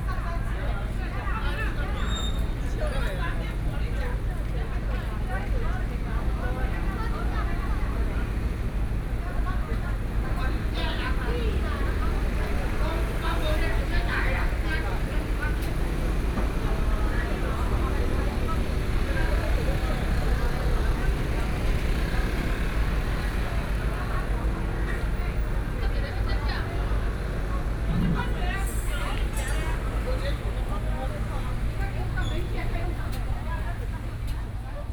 2.8s walking on the Road 34.9s
7.7s Traffic Sound 34.9s

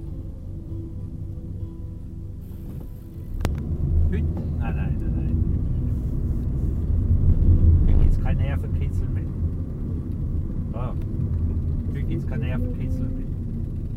4.0s taxi driver commenting 5.5s
11.8s taxi driver commenting 13.4s

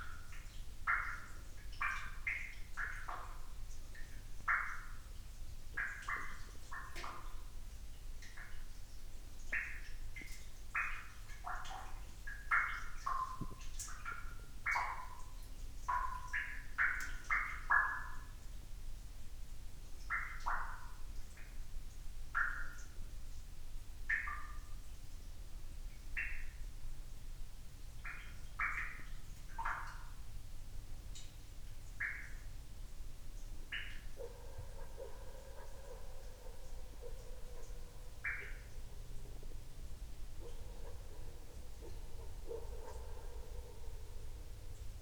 0.0s water dripping in an effluent 45.0s
34.0s distant dog barking 38.8s
40.2s distant dog barking 44.7s

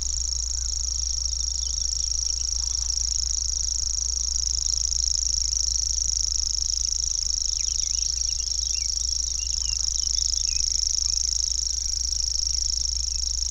0.0s Grasshopper warbler 13.5s
6.7s wren 13.5s

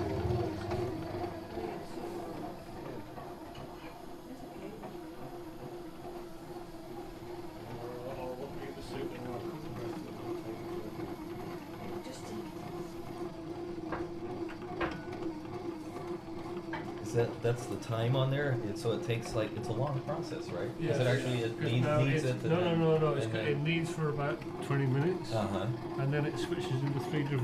0.0s bread maker 27.4s

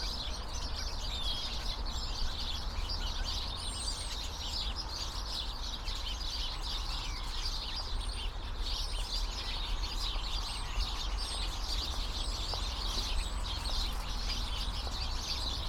9.6s traffic 15.6s
10.3s people walking by 15.6s

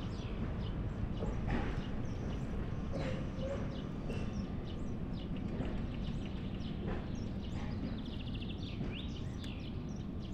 0.0s sounds of the harbour in the background 10.3s

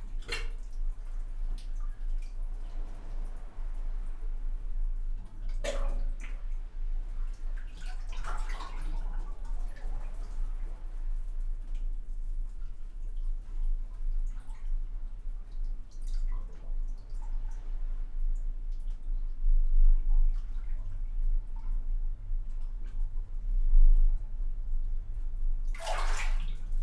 0.0s water in concrete chamber 26.8s

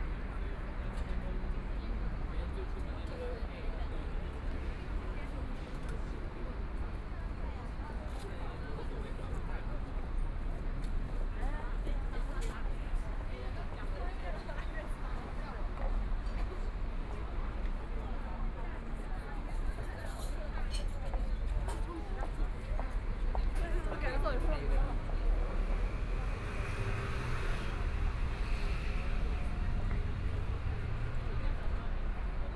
0.0s Street crowd eating out 32.5s
21.1s Traffic Sound 32.5s

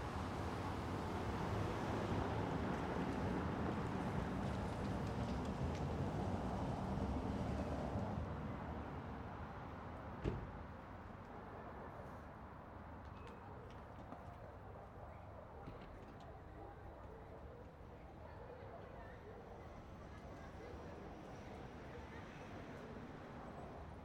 11.3s VERY LIGHT VOICES WALLA 24.0s

